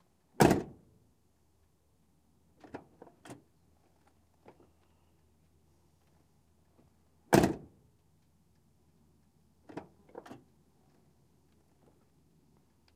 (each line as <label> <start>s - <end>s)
Van door 7.3s - 7.7s